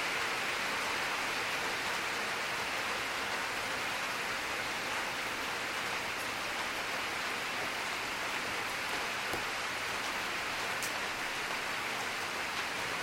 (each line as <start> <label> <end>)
0.0 moderate rain storm 13.0